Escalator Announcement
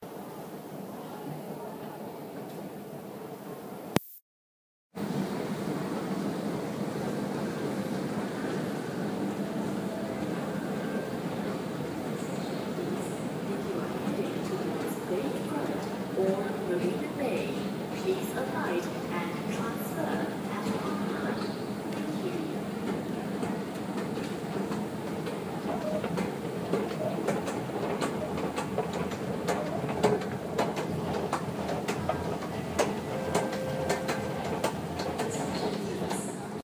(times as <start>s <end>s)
8.5s 36.2s